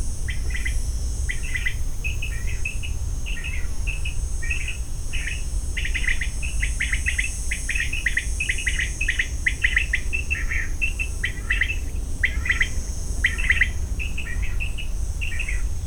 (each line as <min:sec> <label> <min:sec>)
0:00.0 insects buzzing along 0:15.8